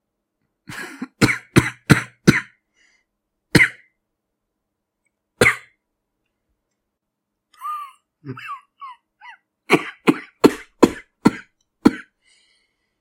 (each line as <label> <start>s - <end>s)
Wounded coughing 0.7s - 2.6s
Wounded coughing 7.6s - 12.2s